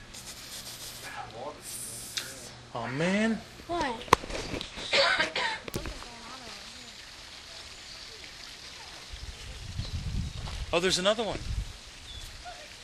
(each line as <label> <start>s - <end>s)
snake 0.0s - 2.6s